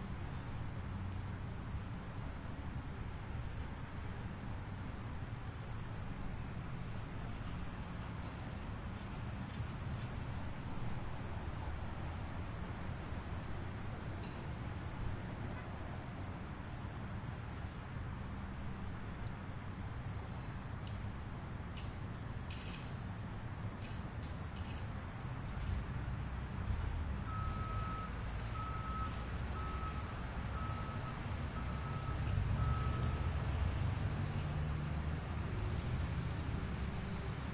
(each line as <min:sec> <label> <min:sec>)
0:00.0 cars 0:37.5
0:00.0 city street 0:37.5
0:21.7 machines working and backing up 0:37.5